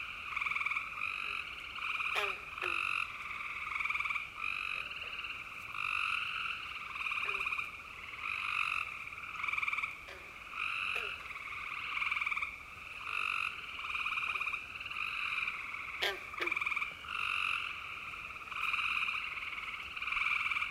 0.0s frogs croaking and singing 20.7s

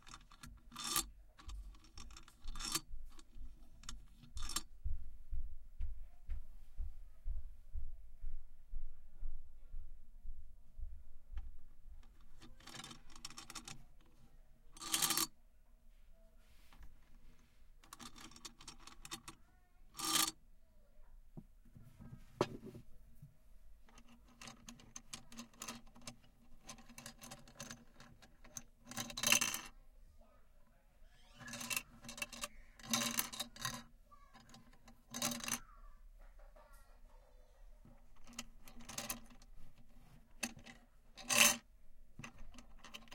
14.8s wooden beads fall down metal bars 15.3s
20.0s wooden beads fall down metal bars 20.3s
23.9s wooden beads fall down metal bars 29.7s
31.4s wooden beads fall down metal bars 33.8s
34.4s wooden beads fall down metal bars 35.6s
38.2s wooden beads fall down metal bars 39.5s
40.4s wooden beads fall down metal bars 41.6s

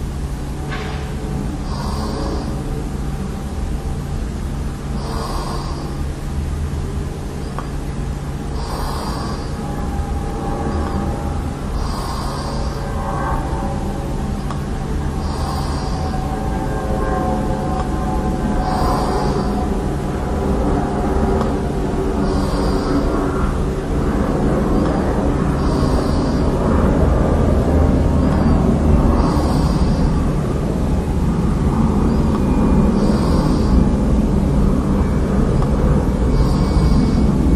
0.0s Airplane 37.5s

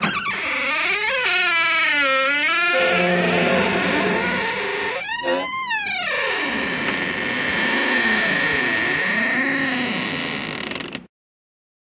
0.0s creaking door sounds 11.1s

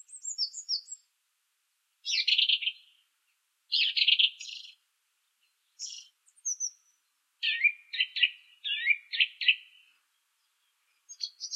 0.0s Song Thrush (Turdus philomelos) singing 1.2s
2.0s Song Thrush (Turdus philomelos) singing 11.5s

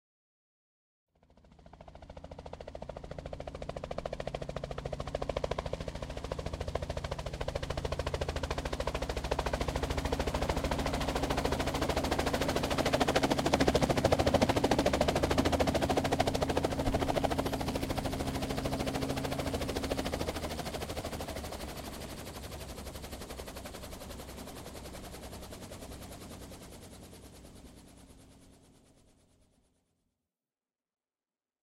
1.4s helicopter landing 29.2s

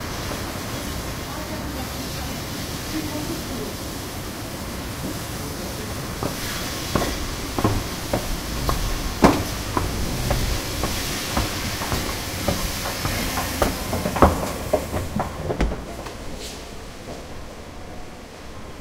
0.0s Riding and walking up an escalator 18.8s
5.5s cars 16.1s

